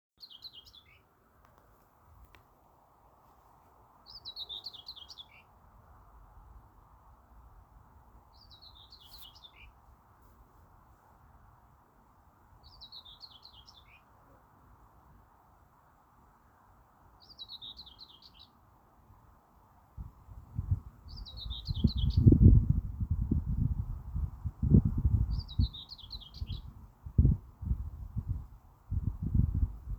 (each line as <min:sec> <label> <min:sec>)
0:00.1 wind 0:29.9
0:00.2 Bird Song 0:01.1
0:04.0 Bird Song 0:05.6
0:08.3 Bird Song 0:09.8
0:12.6 Bird Song 0:14.1
0:17.2 Bird Song 0:18.6
0:20.6 Bird Song 0:29.9